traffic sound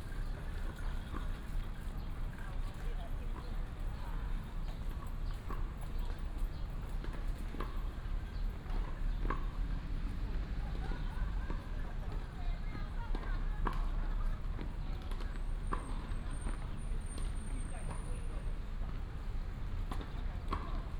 5.6s 20.9s

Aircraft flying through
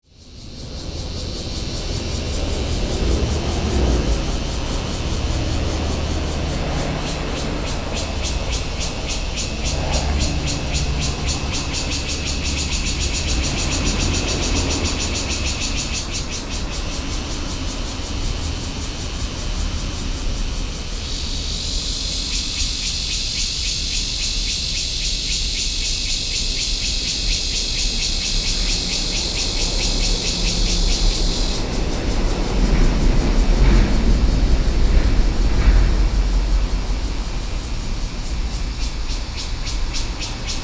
0.6s 18.8s

